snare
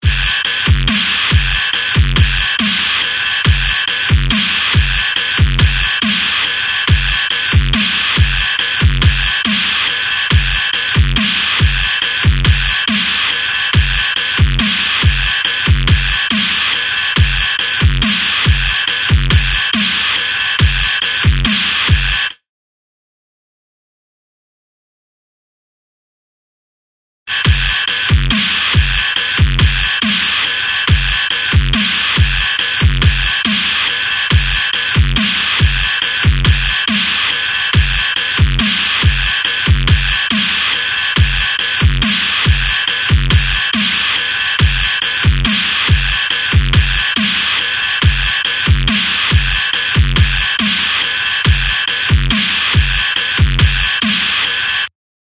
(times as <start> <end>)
0.0 3.3, 3.9 10.1, 10.7 15.7, 16.3 19.1, 19.7 20.4, 21.0 22.4, 27.3 30.7, 31.3 34.1, 34.7 47.8, 48.4 51.2, 51.9 54.6